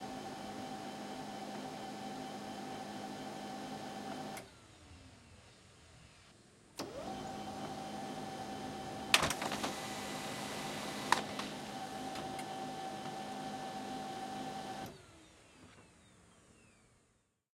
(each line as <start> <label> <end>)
0.0 laser printer 4.6
6.8 laser printer 15.2